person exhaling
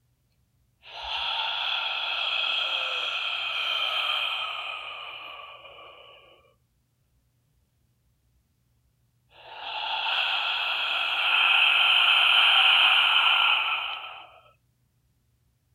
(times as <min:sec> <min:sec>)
0:00.8 0:06.6, 0:09.3 0:14.6